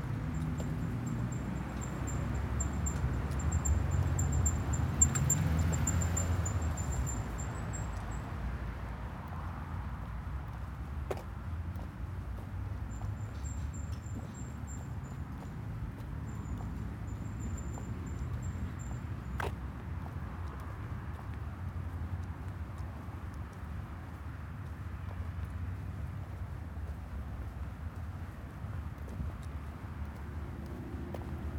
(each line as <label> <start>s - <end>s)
heavy cars and lorries above 0.0s - 31.5s
recorder bouncing a bit on me as I walked 0.0s - 8.5s
recorder bouncing a bit on me as I walked 9.2s - 31.5s